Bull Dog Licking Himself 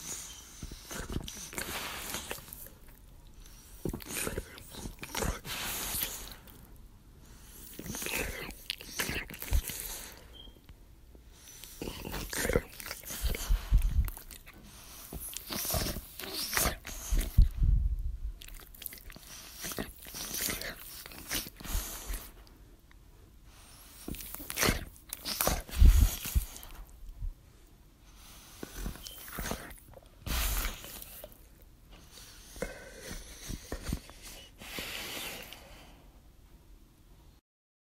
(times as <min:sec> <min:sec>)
0:00.5 0:06.6, 0:11.6 0:17.6, 0:18.4 0:22.5, 0:23.9 0:26.8